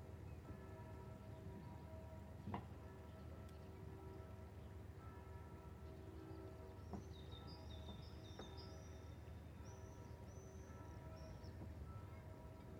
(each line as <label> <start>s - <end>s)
Flight of semi distant bells 0.0s - 12.7s